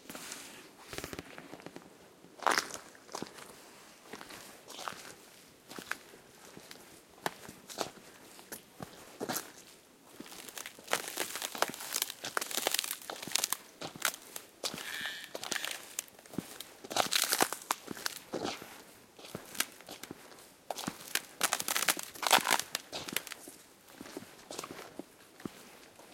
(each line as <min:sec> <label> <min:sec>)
0:02.4 Walking gingerly over thin ice 0:26.1